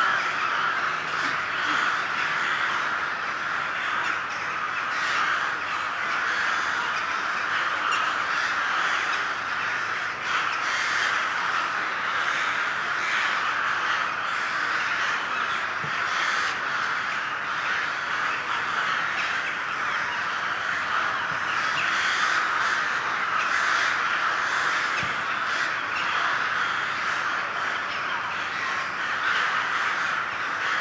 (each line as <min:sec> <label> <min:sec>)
0:00.0 crows awaken 0:30.8